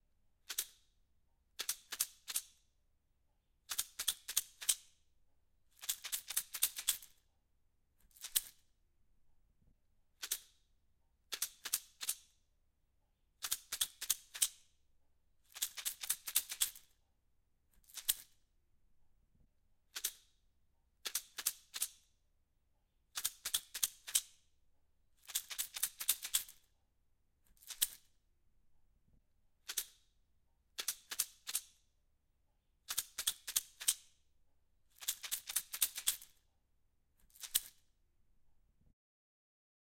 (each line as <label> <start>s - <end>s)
shaking a toothpick holder 15.5s - 16.9s
shaking a toothpick holder 25.2s - 26.7s
shaking a toothpick holder 27.5s - 28.1s
shaking a toothpick holder 32.9s - 34.1s
shaking a toothpick holder 34.9s - 36.4s
shaking a toothpick holder 37.2s - 37.8s